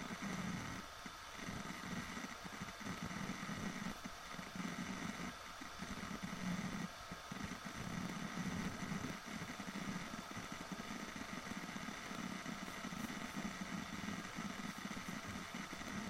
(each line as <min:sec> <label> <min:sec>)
0:00.0 magnetic harddisk 0:16.0